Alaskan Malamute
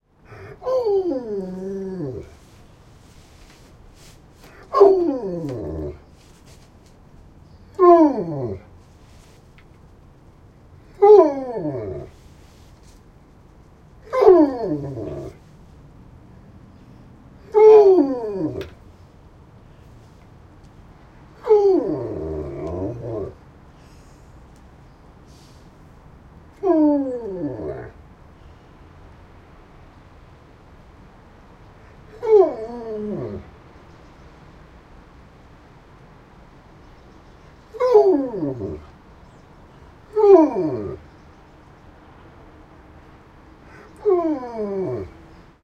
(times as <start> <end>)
4.4 6.5, 14.0 15.5, 37.7 39.0, 40.0 41.2